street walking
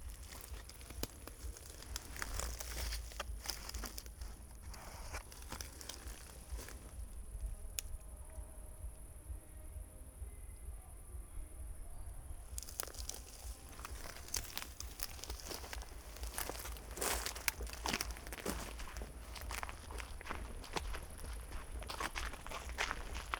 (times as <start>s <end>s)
0.0s 7.2s, 12.5s 23.3s